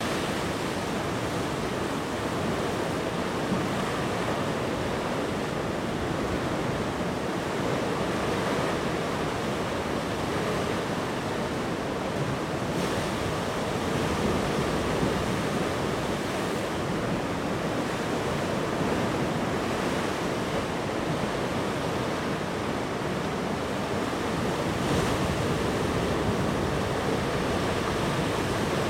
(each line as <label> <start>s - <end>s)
Ocean tide 0.0s - 28.8s